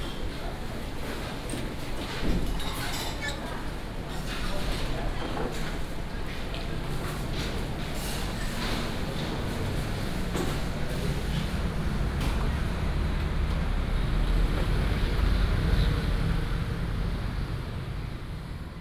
0.0s Walking in the traditional market 18.8s
7.3s traffic sound 18.8s

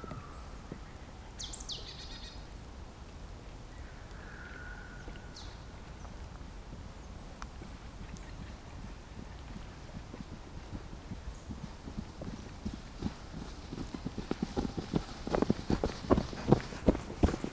8.8s a pair of joggers passing by 17.5s

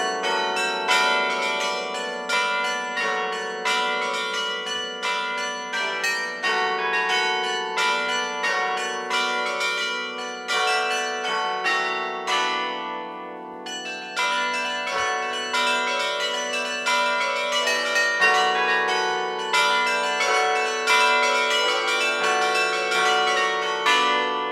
0.0s Carillon 24.5s

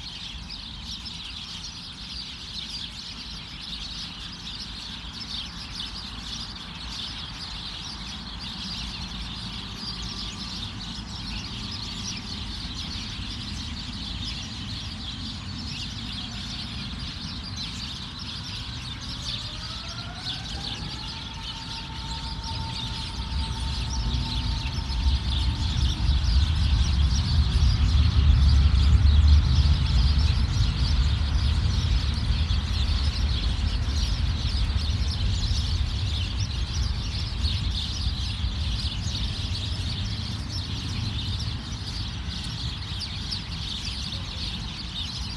0.0s Chattering sparrows 45.3s
18.1s busy station 34.4s

